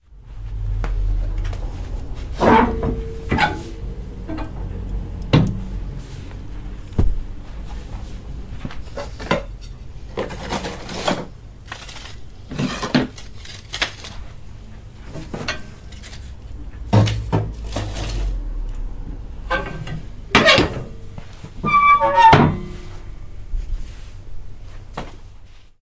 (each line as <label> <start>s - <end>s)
Filling up the stove with some wood 10.2s - 14.3s
Filling up the stove with some wood 21.5s - 23.1s